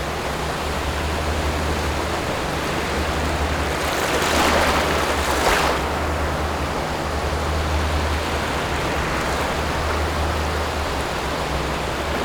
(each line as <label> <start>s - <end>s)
boats on the distant sea 0.0s - 12.2s
waves 0.0s - 12.2s